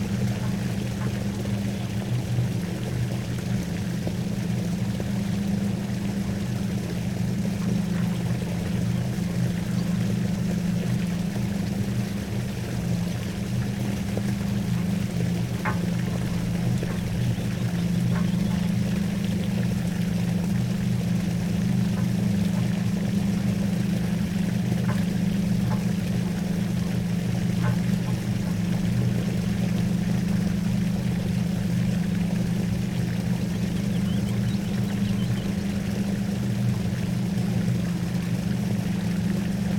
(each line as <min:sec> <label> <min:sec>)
0:00.0 pumped mine water drains emptying into the basin 0:39.7